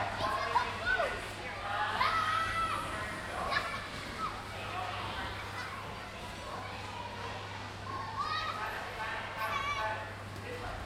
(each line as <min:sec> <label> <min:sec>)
0:00.0 Children playing 0:10.8